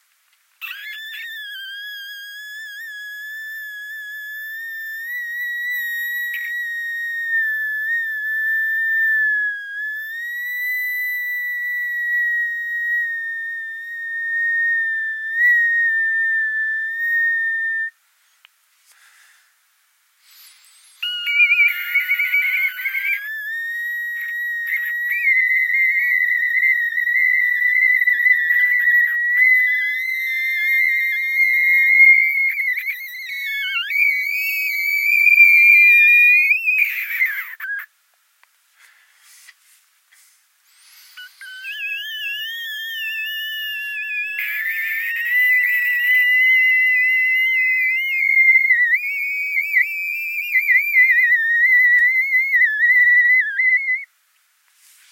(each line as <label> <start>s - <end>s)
mandrake scream 0.6s - 18.0s
mandrake scream 20.2s - 37.9s
mandrake scream 40.2s - 54.2s